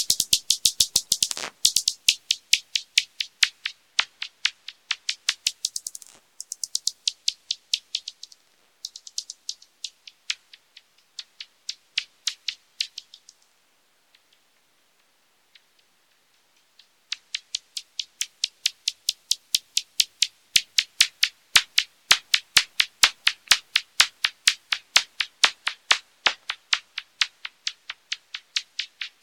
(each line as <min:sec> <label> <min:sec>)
0:00.0 bats echolocating 0:13.4